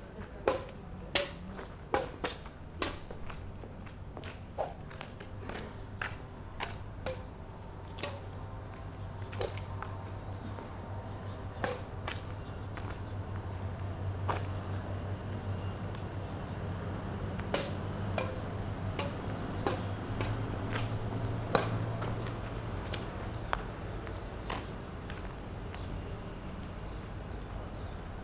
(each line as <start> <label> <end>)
0.0 street ambience 28.2
17.4 badminton match 23.1